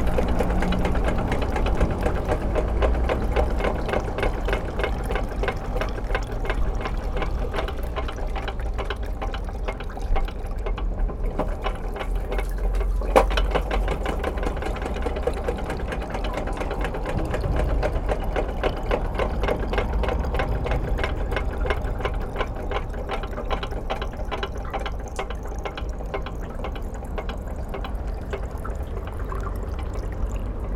Catching water to a Bayard fountain 0:00.0 - 0:30.7

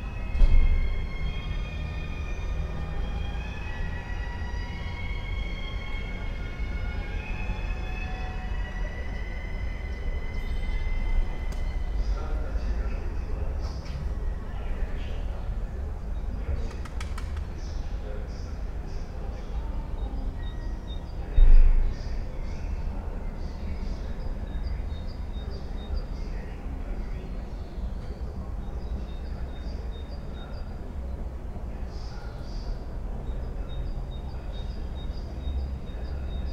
cars 0:00.0 - 0:36.5

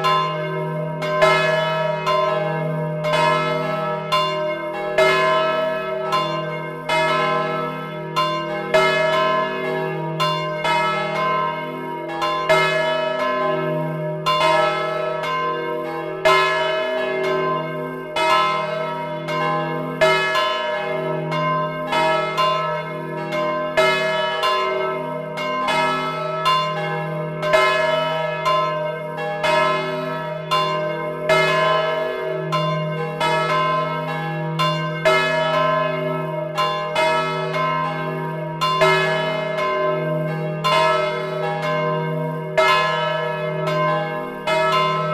bells 0:00.0 - 0:45.1

